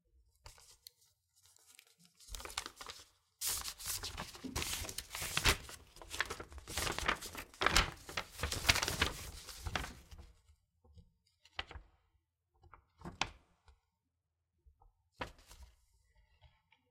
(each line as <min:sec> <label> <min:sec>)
0:00.5 Opening a letter 0:10.3